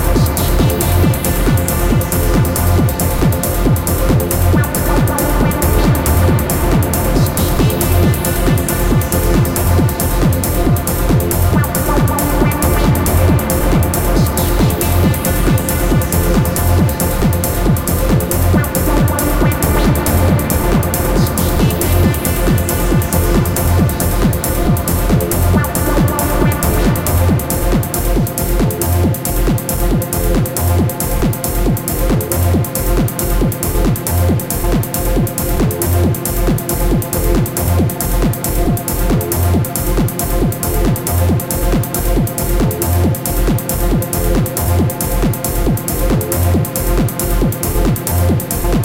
club mix 0:00.0 - 0:48.8

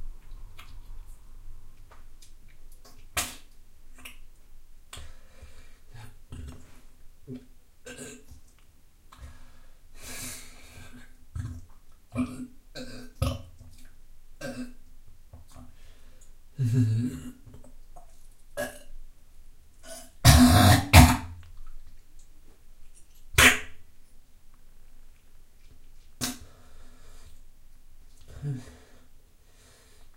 Sick In Toilet 0:03.2 - 0:04.2
Sick In Toilet 0:19.8 - 0:21.4
Sick In Toilet 0:23.4 - 0:23.8
Sick In Toilet 0:26.2 - 0:27.4

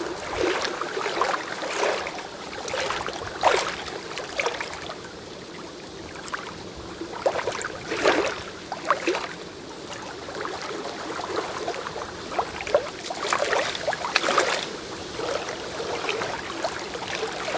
dull roar of the wind 0:00.0 - 0:17.5

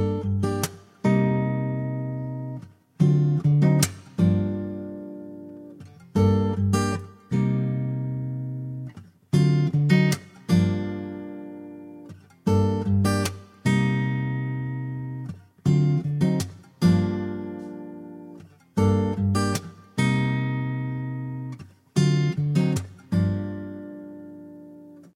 Acoustic Guitar 0:00.0 - 0:25.1

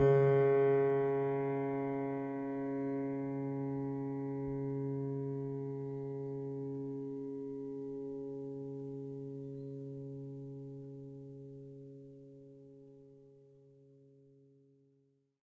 piano strings played with a finger 0:00.0 - 0:11.8

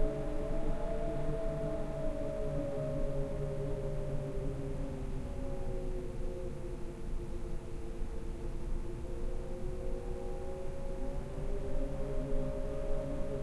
howling wind heard from indoors 0:00.0 - 0:13.4

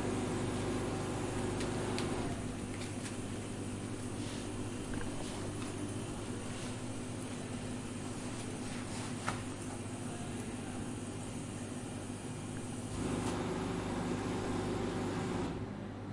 water 0:04.8 - 0:07.1
vending machine 0:12.4 - 0:16.0
hand dryer 0:12.9 - 0:15.6

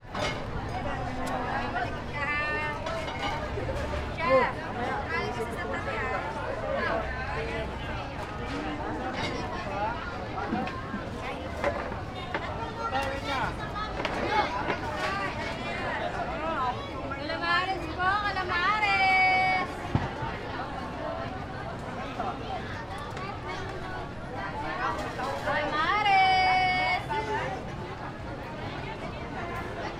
customers (mostly students) passing by, chatting and buying 0:00.0 - 0:29.9
vendors selling their yummy food 0:00.0 - 0:29.9

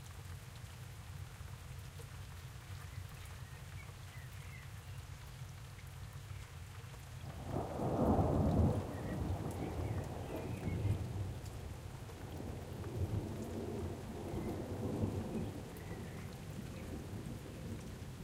Silent rain 0:00.0 - 0:18.2
thunder - both close and far away 0:07.3 - 0:18.0

